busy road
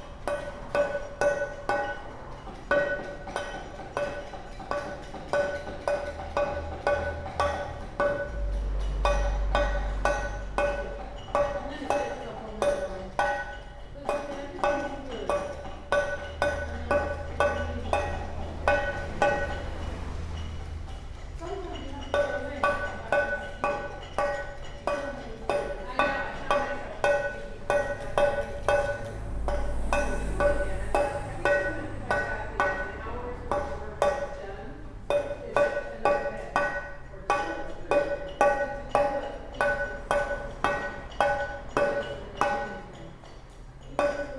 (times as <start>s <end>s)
15.6s 24.9s, 25.8s 37.2s